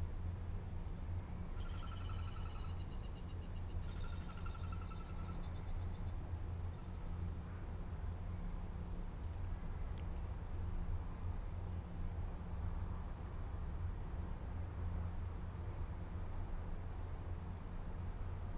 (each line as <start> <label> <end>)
0.0 distant traffic 18.5
1.6 magpie 5.6
1.6 magpie lark 6.0
1.6 ravens 6.0
1.6 blue wren 7.2